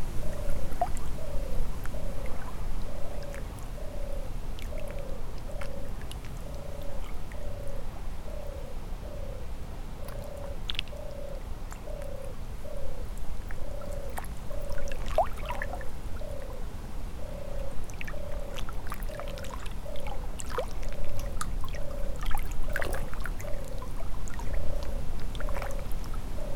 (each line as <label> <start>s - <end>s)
european turtle dove 0.0s - 26.5s
very very quiet Risle river 0.0s - 26.5s